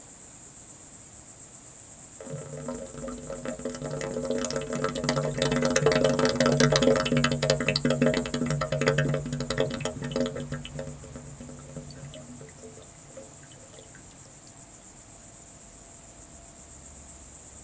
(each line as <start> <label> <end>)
0.0 insects 17.6
2.2 fountain 14.6